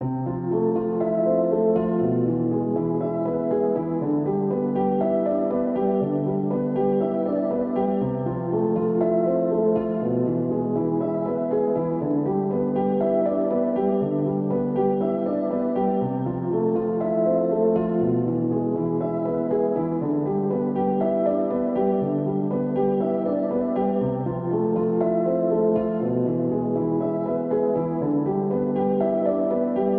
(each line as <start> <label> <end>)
0.0 piano 29.9